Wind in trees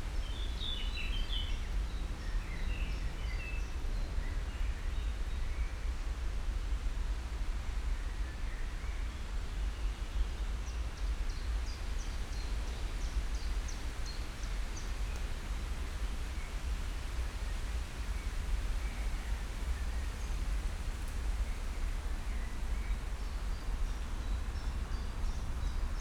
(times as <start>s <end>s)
9.4s 26.0s